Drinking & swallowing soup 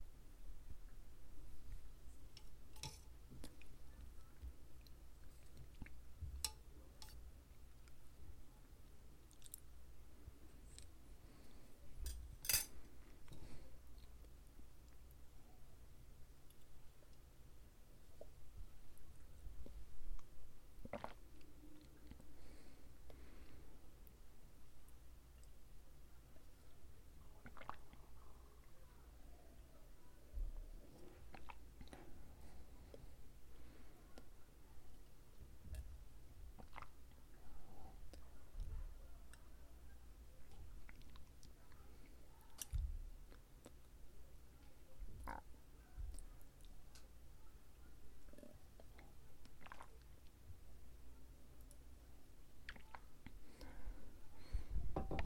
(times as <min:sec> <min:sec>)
0:19.5 0:24.2, 0:24.8 0:39.7, 0:40.4 0:44.0, 0:45.0 0:47.1, 0:48.0 0:55.2